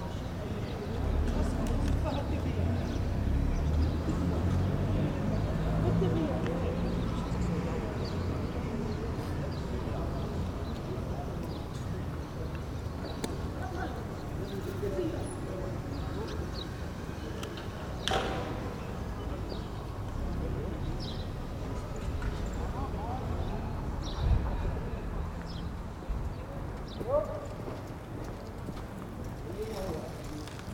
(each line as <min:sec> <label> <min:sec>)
0:00.0 few people talking 0:30.7